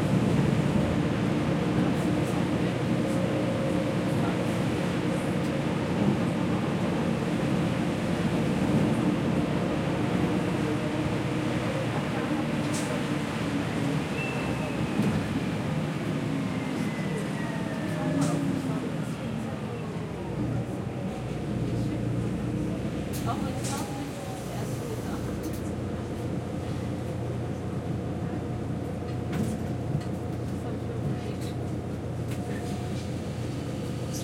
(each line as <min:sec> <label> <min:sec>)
0:00.0 driving with city bus 0:34.2